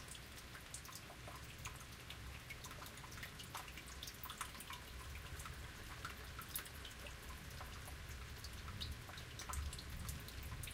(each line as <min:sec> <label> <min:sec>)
0:00.0 Water running through a concrete tube 0:10.7
0:00.0 rain 0:10.7
0:00.0 tunnel drip 0:10.7